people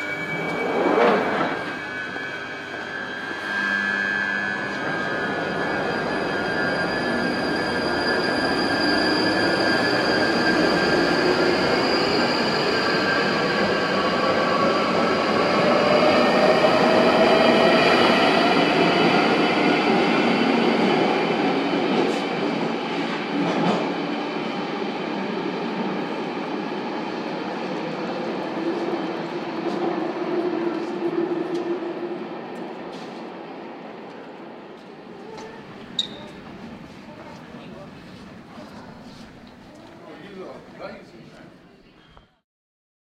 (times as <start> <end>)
34.8 42.4